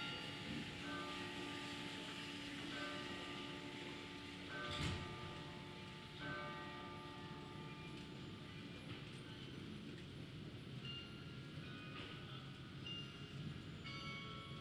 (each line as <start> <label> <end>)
0.0 Church bells 8.8
13.8 Church bells 14.6